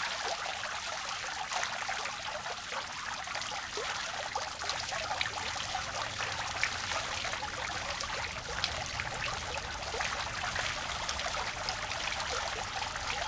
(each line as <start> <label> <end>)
0.0 small fountain 13.2